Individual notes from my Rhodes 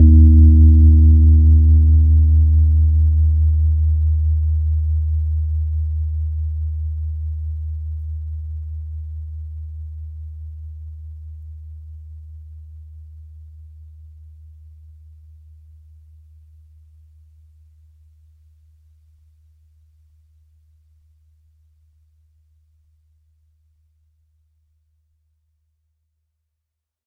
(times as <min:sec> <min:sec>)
0:00.0 0:02.6